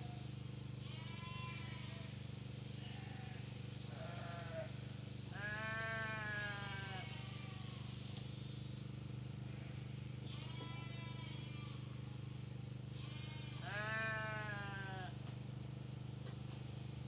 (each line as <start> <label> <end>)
2.8 insects 15.4